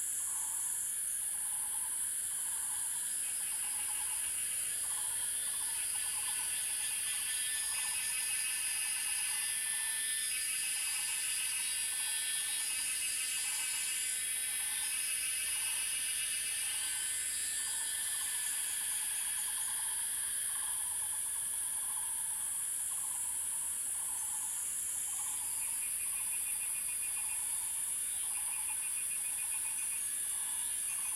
0.0s Cicadas cry 31.1s

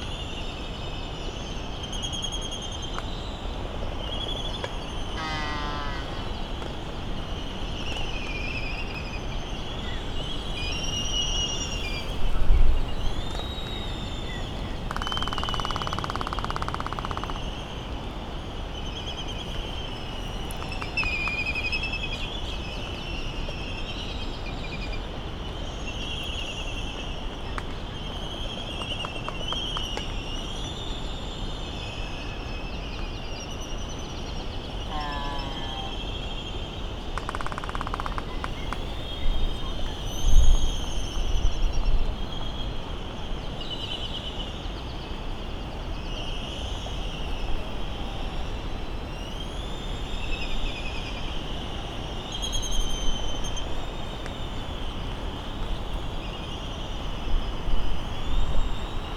0.0s very windy day 59.1s
1.2s red-tailed tropic bird 17.8s
4.6s laysan albatross calls and bill clapperings 6.8s
14.8s laysan albatross calls and bill clapperings 17.6s
31.8s red-tailed tropic bird 36.5s
34.8s laysan albatross calls and bill clapperings 36.0s
37.2s laysan albatross calls and bill clapperings 39.8s
37.2s red-tailed tropic bird 45.0s

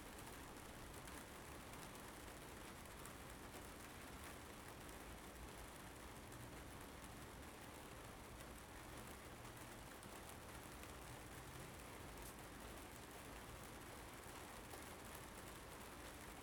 0.0s Rainstorm 16.4s

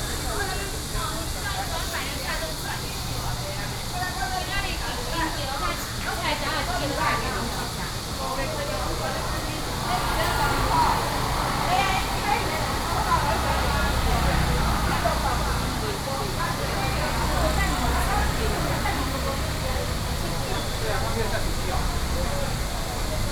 0.0s Walking through the traditional market 23.3s
0.0s Cicadas called 23.3s

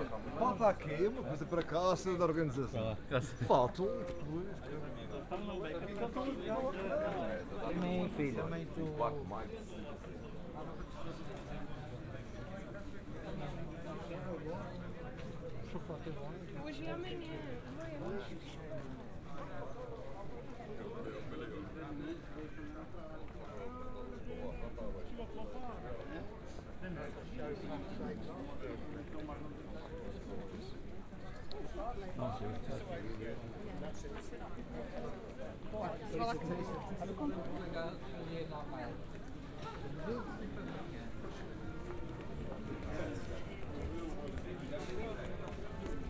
0.0s crowds 46.0s

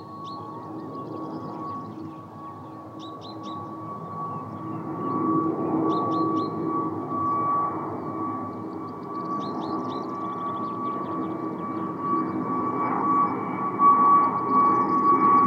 0.0s distant traffic 12.4s
0.0s planes 15.4s

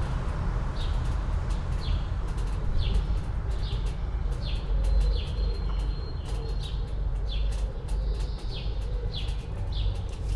0.0s traffic 10.3s
0.0s walk between trees and around church 10.3s
0.7s birds 10.3s

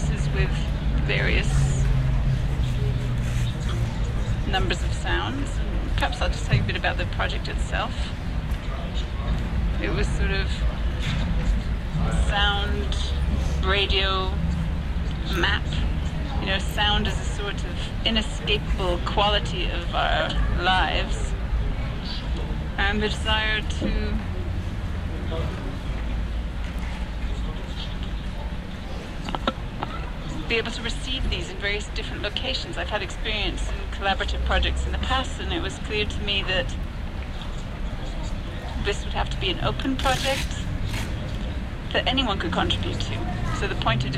2.6s talks 24.3s
25.1s talks 40.7s

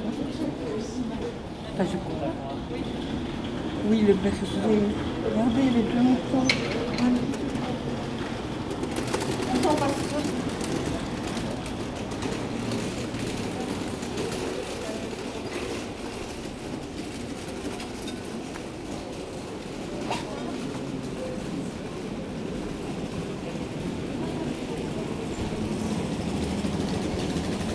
0.0s People walking on the street 27.7s

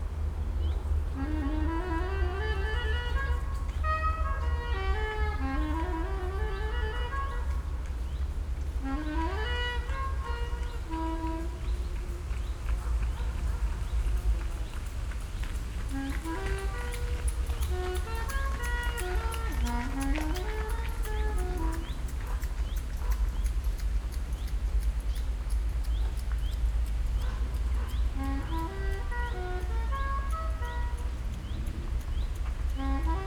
0.6s musician practising on a saxophone 23.1s
8.6s joggers 31.3s
27.9s musician practising on a saxophone 33.2s

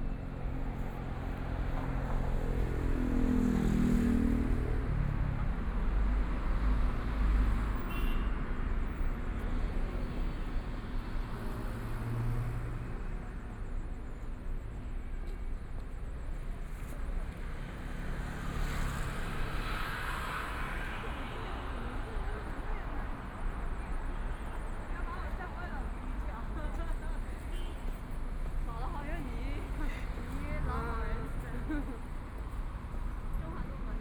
0.0s Pedestrians 34.0s
0.0s Traffic Sound 34.0s
9.3s Walking on the road 34.0s

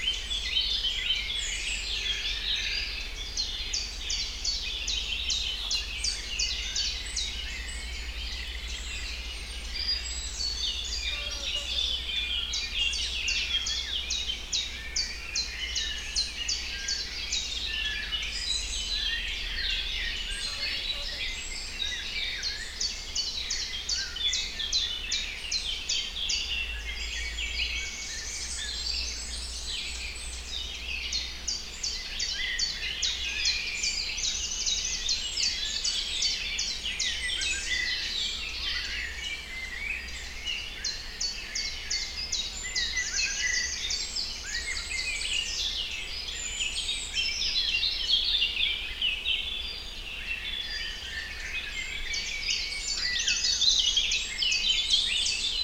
0.0s Birds in forest 55.6s

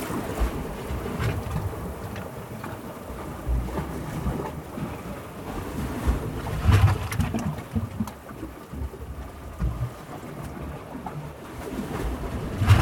0.0s Mild waves on rocky beach 12.8s

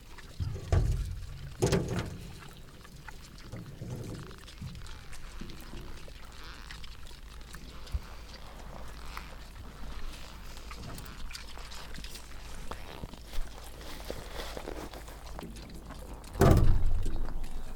0.0s pigs chewing stones 17.7s
0.2s drop and play with in their empty metal troughs 5.4s

